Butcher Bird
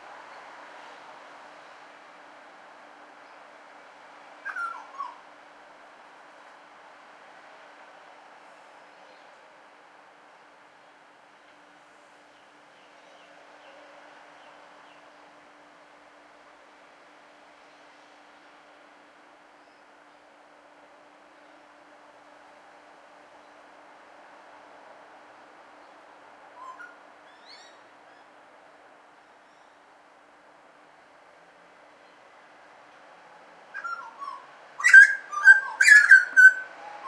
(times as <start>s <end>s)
33.8s 37.0s